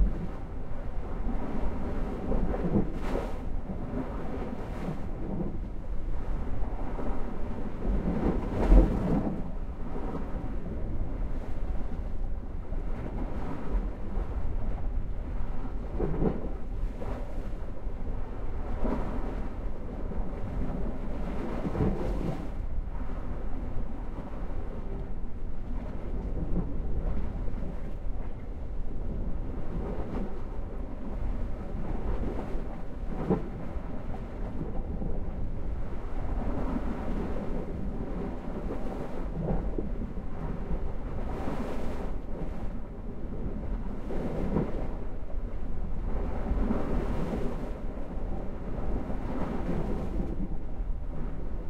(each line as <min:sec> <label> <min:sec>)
0:00.0 Sea (under a rock) 0:51.6